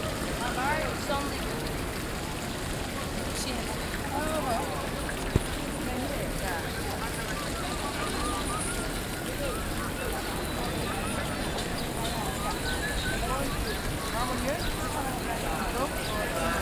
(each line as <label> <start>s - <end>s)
Fountain 0.0s - 16.6s